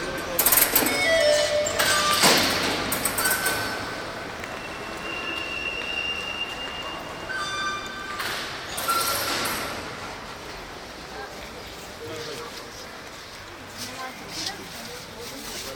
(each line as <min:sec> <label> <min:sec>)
0:00.0 railway 0:15.7